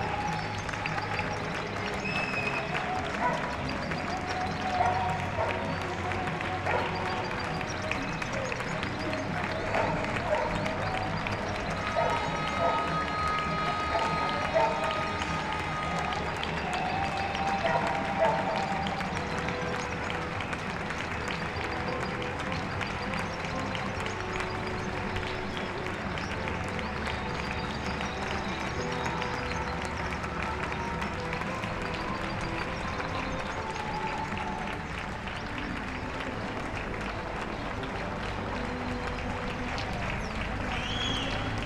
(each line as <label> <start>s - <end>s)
applause 0.0s - 41.6s